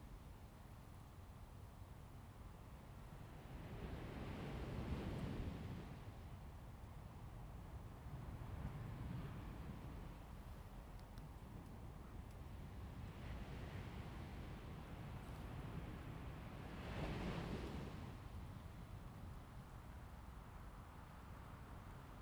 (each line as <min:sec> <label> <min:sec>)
0:12.9 waves 0:20.4